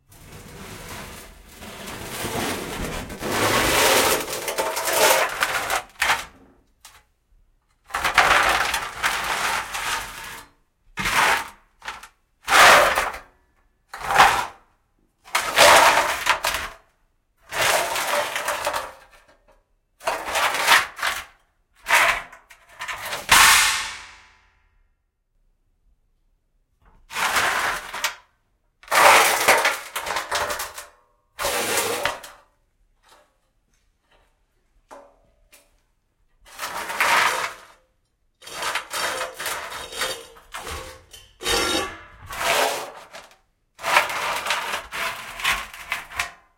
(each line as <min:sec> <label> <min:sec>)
0:00.0 sheet metal pieces drag on workshop floor 0:06.4
0:38.5 sheet metal pieces drag on workshop floor 0:43.2